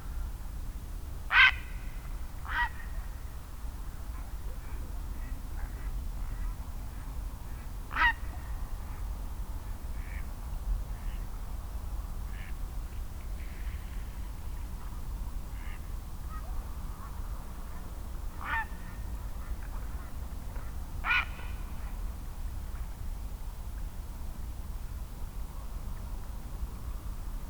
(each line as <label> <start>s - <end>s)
wild geese 18.4s - 18.8s